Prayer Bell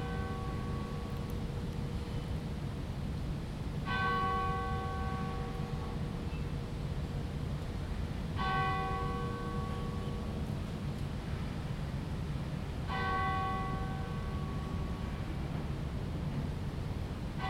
0.0 1.6, 3.9 6.6, 8.3 10.6, 12.9 15.1

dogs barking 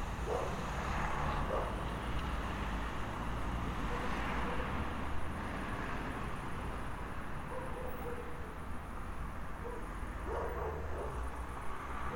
0.2 0.6, 1.5 1.8, 3.9 4.8, 7.5 8.5, 9.6 11.3

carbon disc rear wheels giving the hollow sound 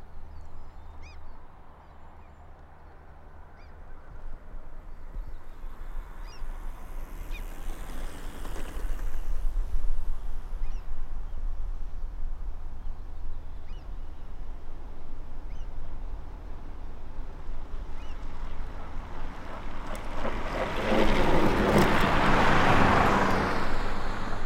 5.2 11.1

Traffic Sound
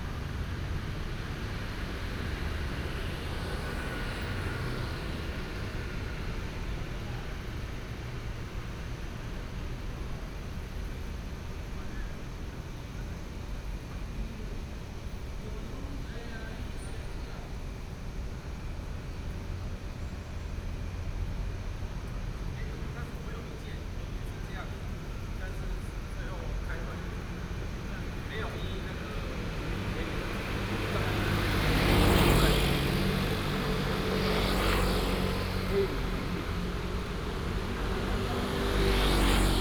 0.0 9.0, 20.2 39.6

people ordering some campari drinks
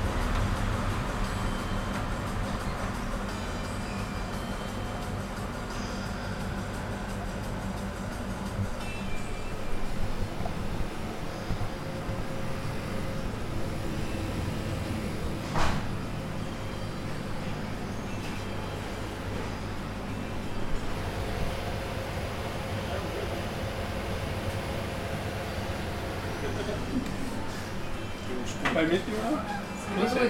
26.2 30.2

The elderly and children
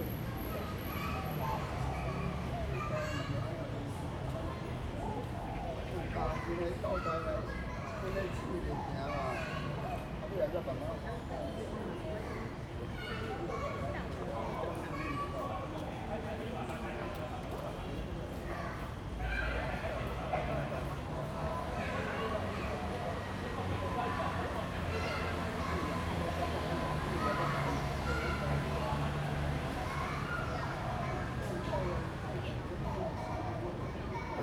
12.8 34.4

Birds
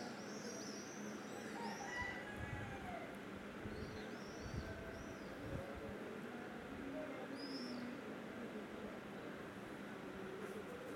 0.0 5.6, 7.2 8.1

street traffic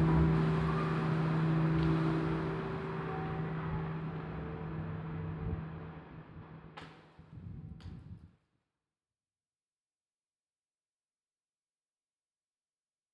0.0 6.8

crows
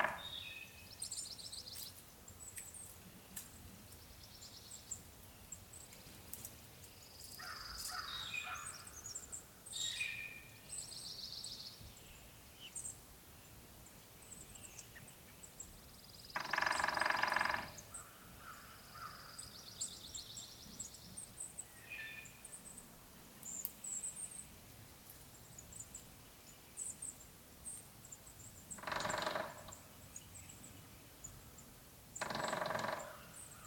7.4 8.8, 16.4 19.4, 28.8 29.7, 32.2 33.6

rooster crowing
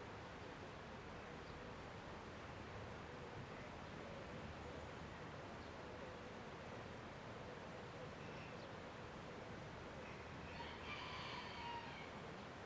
10.4 12.2

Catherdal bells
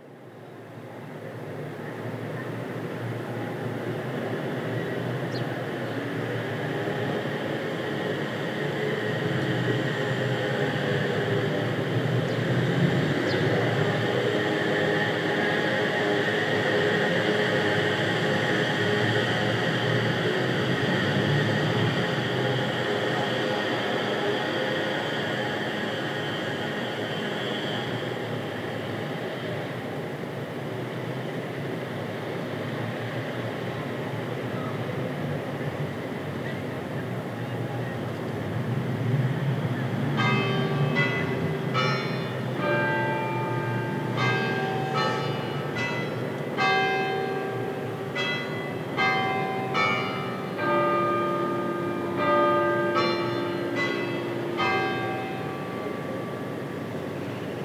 40.2 57.6

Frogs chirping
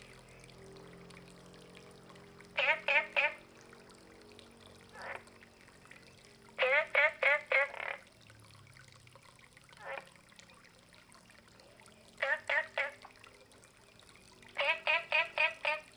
12.2 13.0, 14.6 15.9

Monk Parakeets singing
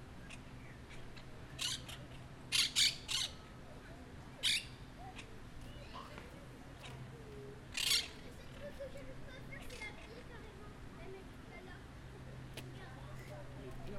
0.2 3.4, 4.4 4.8, 7.8 8.2

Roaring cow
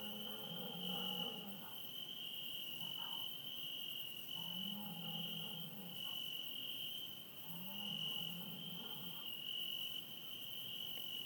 0.0 1.7, 4.4 6.0

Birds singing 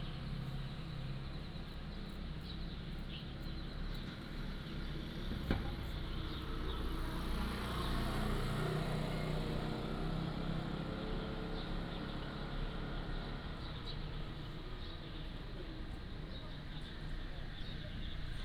9.6 18.4

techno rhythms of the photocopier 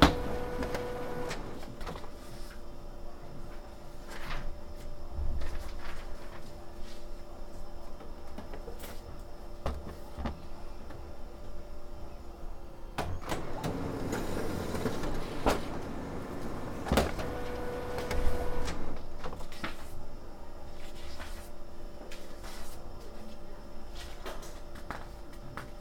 0.0 2.2, 13.0 20.0

